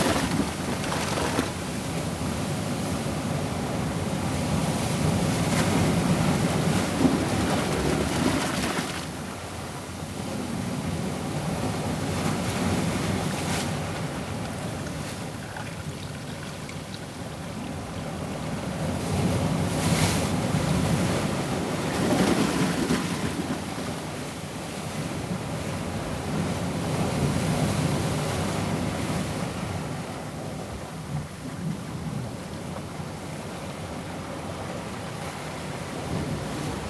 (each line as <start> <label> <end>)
0.0 heavy duty waves splashing among rocks 2.5